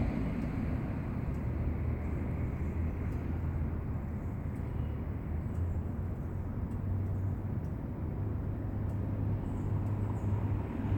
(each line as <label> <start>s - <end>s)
Cars Passing 0.0s - 10.9s